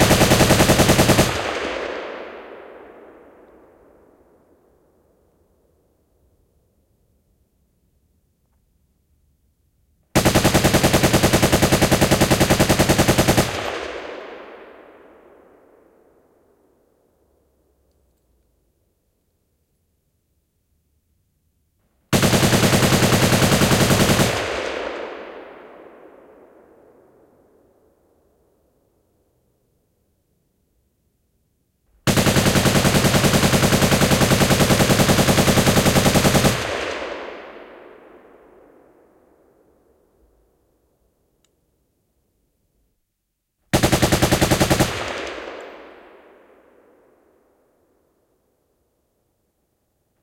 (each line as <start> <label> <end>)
0.0 A machine gun, Russian Maxim, shooting 3.2
10.2 A machine gun, Russian Maxim, shooting 15.1
22.1 A machine gun, Russian Maxim, shooting 26.5
32.0 A machine gun, Russian Maxim, shooting 38.6
43.7 A machine gun, Russian Maxim, shooting 46.7